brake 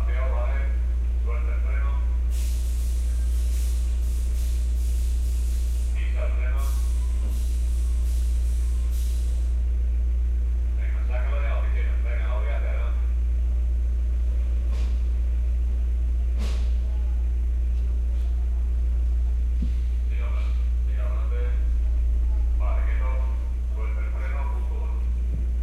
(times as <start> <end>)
2.2 9.8, 14.2 25.6